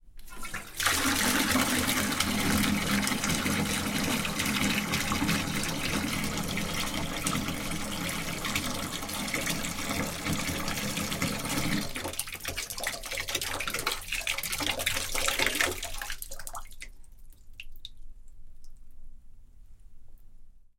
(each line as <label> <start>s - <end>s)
residual water leaving the water tap 0.1s - 18.0s
Open water tap 0.2s - 18.0s
close water tap 0.2s - 16.2s
pouring water into the bath 0.2s - 18.0s